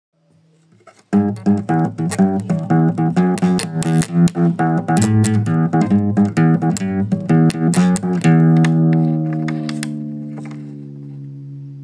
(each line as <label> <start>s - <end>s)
playing my guitar 1.1s - 11.8s